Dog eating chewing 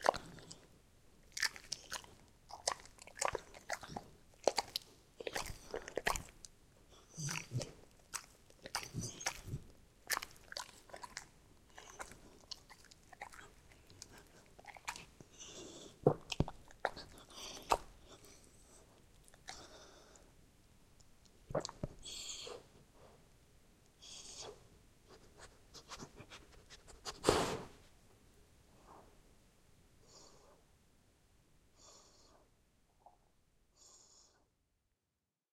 0.0s 0.6s, 1.3s 18.4s

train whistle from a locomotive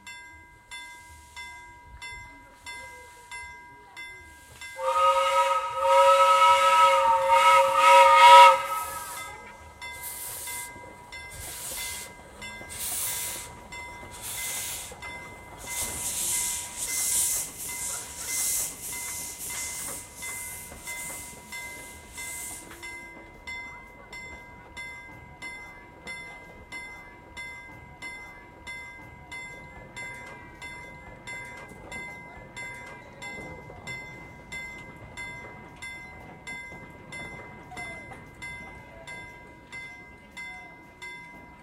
4.8s 9.7s

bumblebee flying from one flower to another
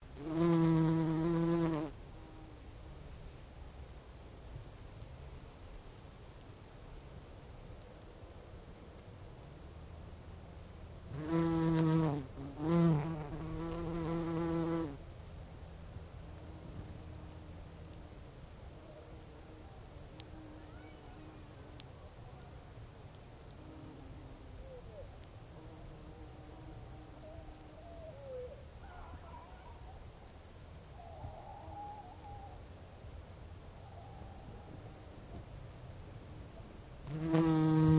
0.2s 2.4s, 11.1s 15.0s, 37.0s 37.9s

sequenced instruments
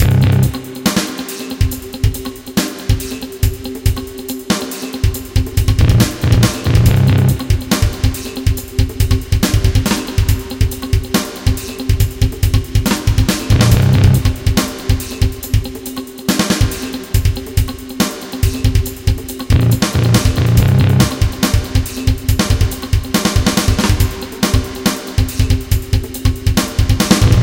0.0s 0.8s, 5.8s 7.5s, 13.5s 14.4s

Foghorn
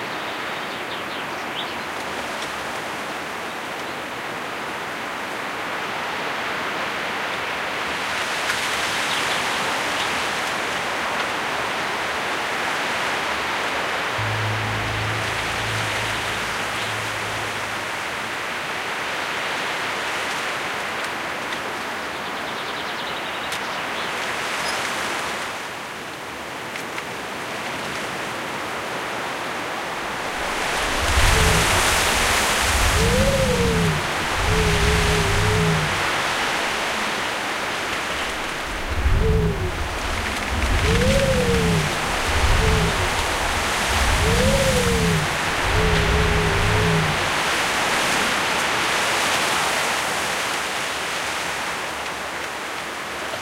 14.2s 18.8s, 30.2s 37.1s, 38.2s 48.4s

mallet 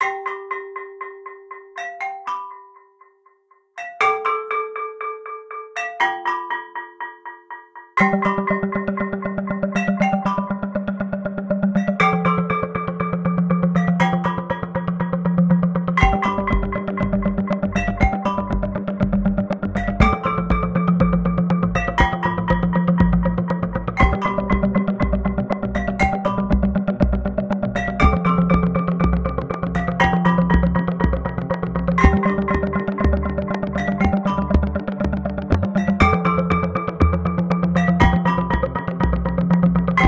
16.0s 40.0s

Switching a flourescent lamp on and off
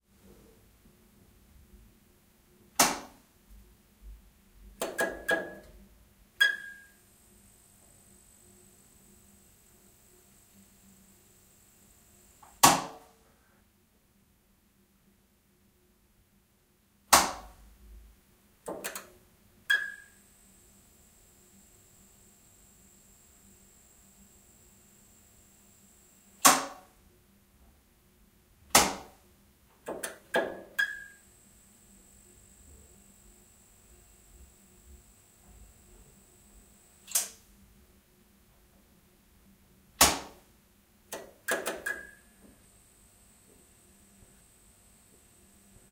18.7s 19.1s, 26.4s 26.8s, 29.9s 31.2s, 37.0s 37.4s, 41.1s 42.2s

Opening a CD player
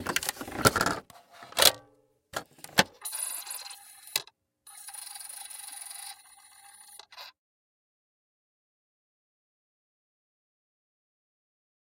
0.0s 1.8s, 2.4s 3.0s

